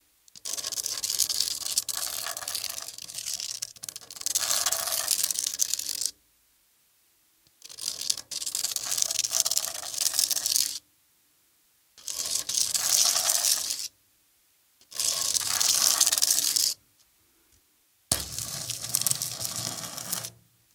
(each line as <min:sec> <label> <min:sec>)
0:00.4 Long Light Metal scrapes on sand paper 0:06.1
0:07.6 Long Light Metal scrapes on sand paper 0:10.8
0:12.0 Long Light Metal scrapes on sand paper 0:13.9
0:14.8 Long Light Metal scrapes on sand paper 0:16.8
0:18.1 Long Light Metal scrapes on sand paper 0:20.4